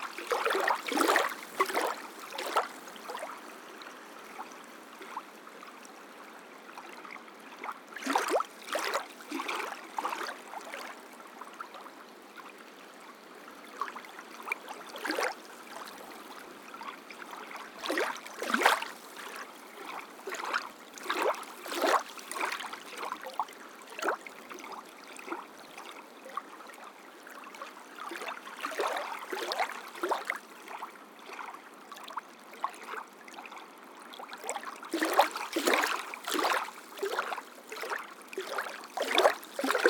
waves in sand quarry pond 0.0 - 3.4
waves in sand quarry pond 16.9 - 23.2
waves in sand quarry pond 34.4 - 39.8

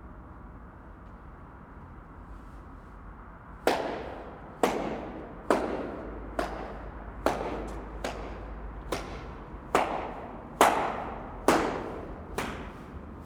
Hand clapping in the tunnel 3.7 - 13.2
nice echoes 3.7 - 13.2

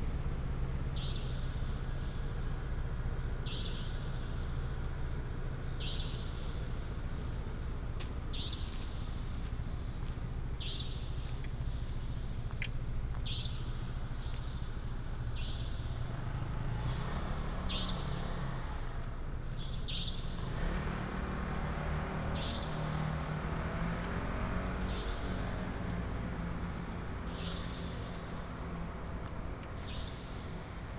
Traffic sound 0.0 - 30.9

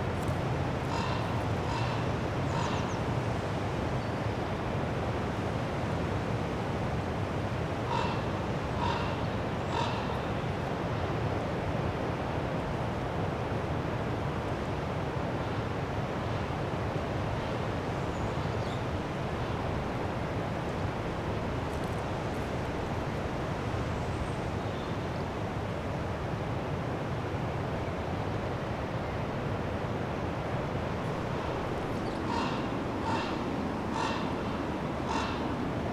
recording a Raven 0.8 - 3.1
recording a Raven 7.8 - 10.6
recording a Raven 31.1 - 35.9

